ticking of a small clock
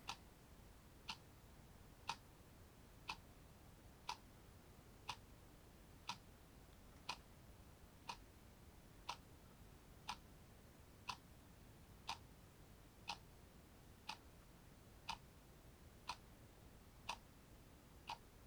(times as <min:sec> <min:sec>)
0:00.0 0:00.2, 0:01.1 0:01.3, 0:02.0 0:02.3, 0:03.0 0:03.3, 0:04.0 0:04.3, 0:05.0 0:05.3, 0:06.0 0:06.3, 0:07.0 0:07.3, 0:08.0 0:08.3, 0:09.0 0:09.3, 0:10.0 0:10.3, 0:11.0 0:11.3, 0:12.0 0:12.3, 0:13.0 0:13.3, 0:14.0 0:14.4, 0:15.0 0:15.3, 0:16.1 0:16.3, 0:17.0 0:17.3, 0:18.0 0:18.3